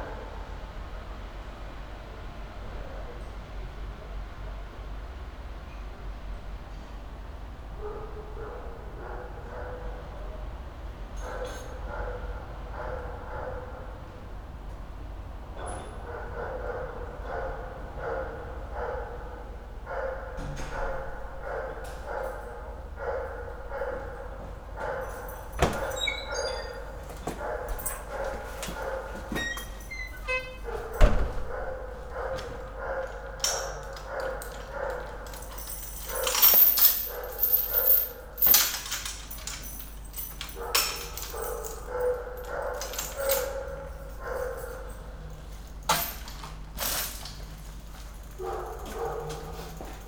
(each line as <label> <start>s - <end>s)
a dog barks 26.3s - 29.3s
a dog barks 30.7s - 36.4s
a dog barks 40.6s - 45.2s
a dog barks 48.4s - 50.0s